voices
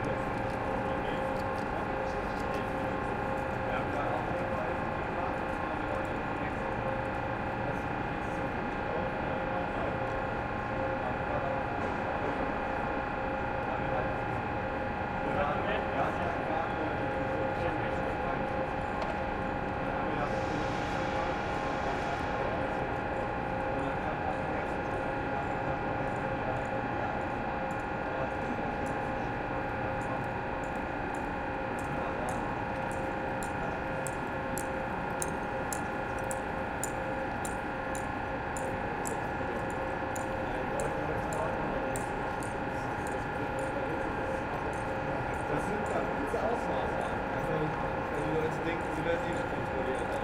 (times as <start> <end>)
38.0 50.2